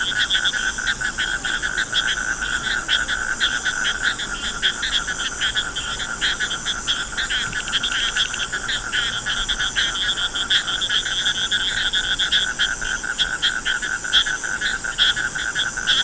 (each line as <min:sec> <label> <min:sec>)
0:00.0 frogs 0:16.0